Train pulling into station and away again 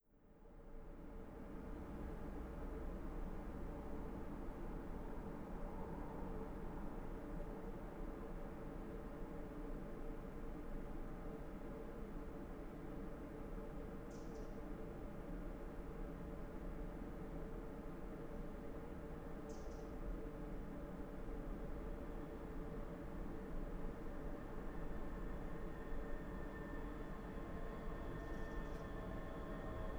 20.2 29.9

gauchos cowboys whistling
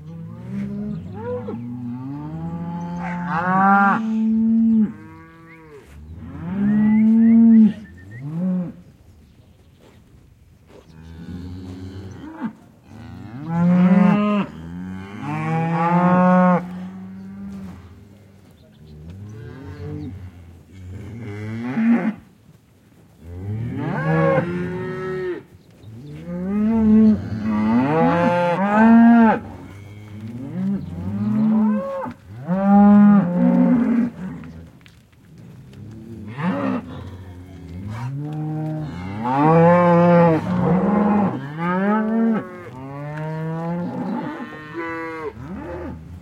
6.6 8.4

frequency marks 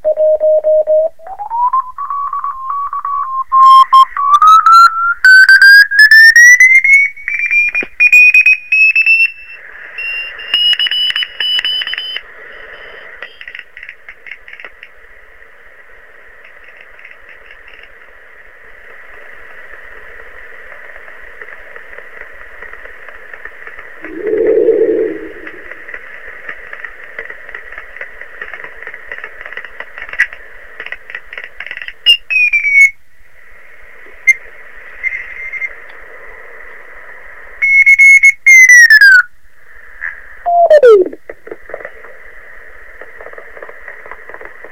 24.0 25.9, 40.5 41.2

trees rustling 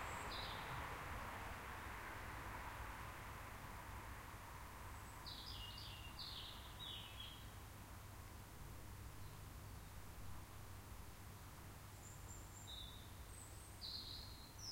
0.0 7.2

